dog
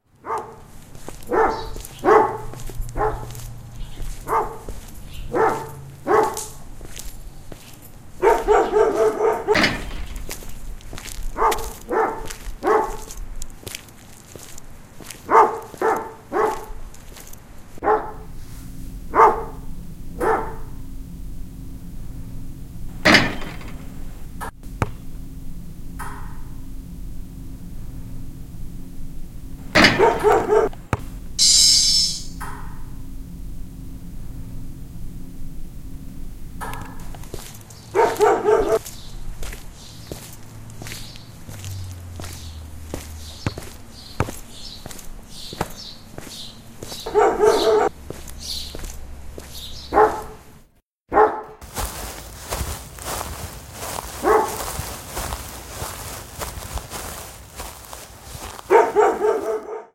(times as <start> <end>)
0.2 0.6, 1.2 6.6, 8.2 10.0, 11.3 13.2, 15.2 16.8, 17.8 18.3, 19.2 19.6, 20.2 20.7, 29.8 30.7, 37.9 38.8, 46.8 47.9, 49.9 50.4, 51.1 51.6, 54.2 54.6, 58.7 59.9